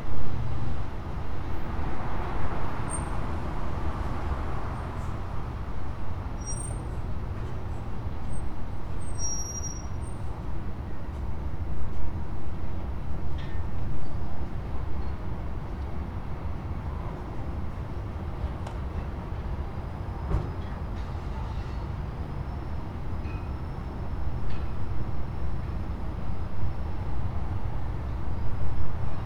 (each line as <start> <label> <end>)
0.1 traffic sounds 9.0